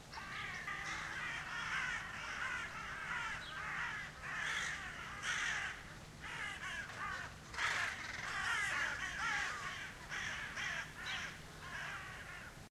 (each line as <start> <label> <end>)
0.0 many raven cry 12.7